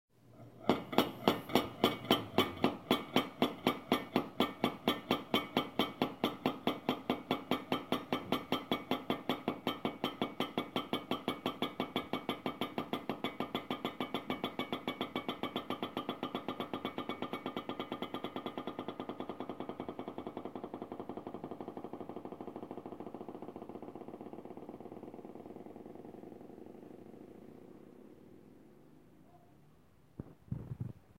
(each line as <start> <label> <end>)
0.5 pot lid rocking 6.4